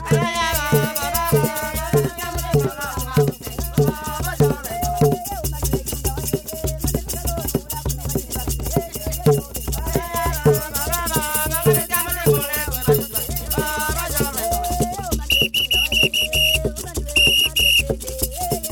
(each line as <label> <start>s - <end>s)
drumming 0.0s - 18.7s
joyful singing 0.0s - 18.7s